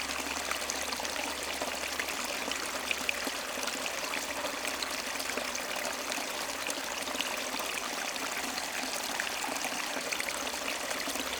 river, flowing in a big wood jam 0:00.0 - 0:11.3

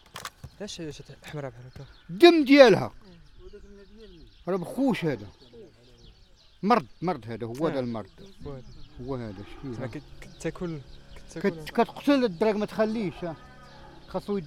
habitants du hameau parlent 0:00.5 - 0:14.4

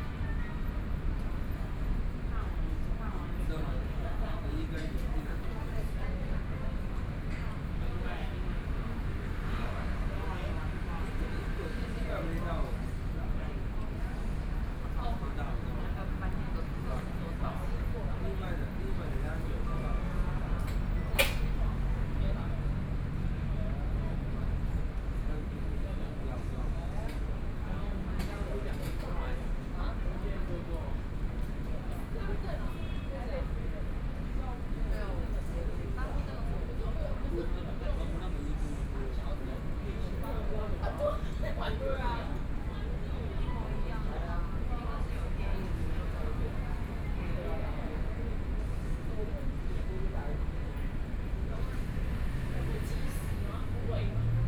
Pedestrian 0:00.0 - 0:54.4
Traffic Sound 0:44.6 - 0:54.4

